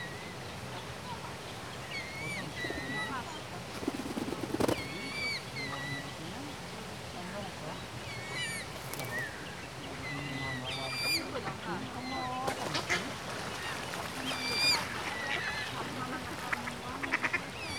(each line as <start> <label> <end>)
2.2 pigeons basking and fighting with each other 5.3
8.6 pigeons basking and fighting with each other 9.3